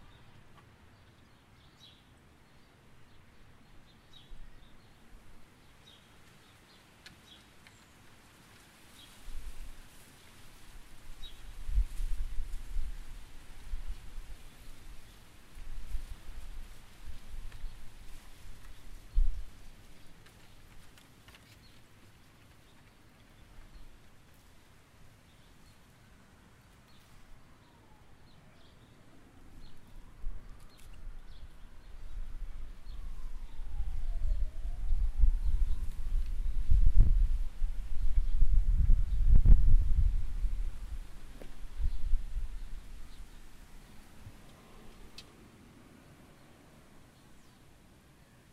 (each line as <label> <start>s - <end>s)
birds 0.0s - 48.5s
wind 0.0s - 48.5s
sirens 33.0s - 35.5s